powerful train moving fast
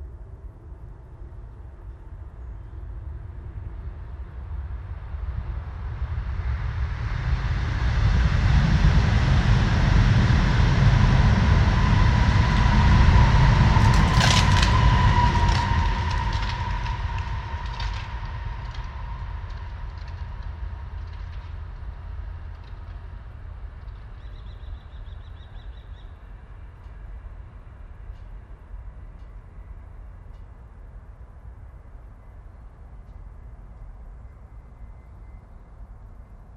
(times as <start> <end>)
4.4 23.7